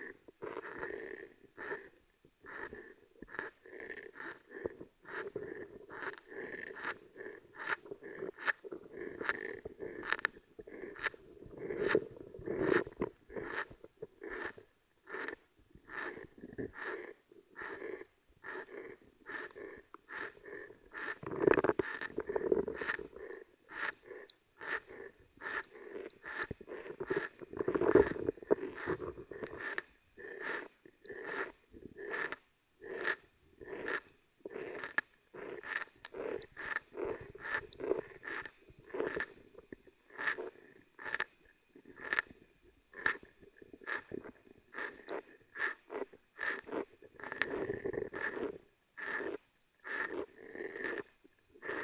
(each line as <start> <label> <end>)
2.5 swamp underwater 41.3